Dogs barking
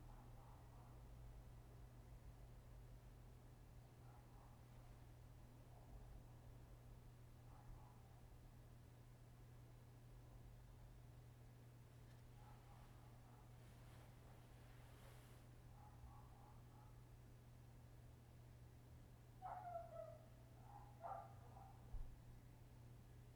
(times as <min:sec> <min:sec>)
0:19.4 0:21.9